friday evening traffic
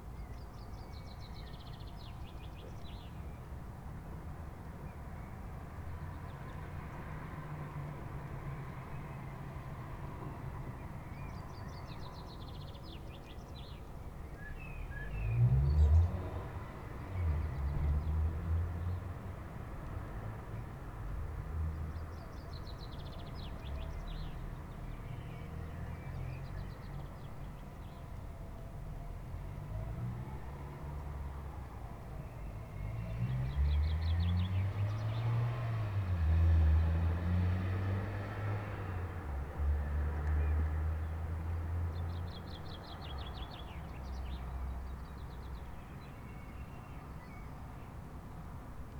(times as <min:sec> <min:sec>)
0:14.9 0:48.9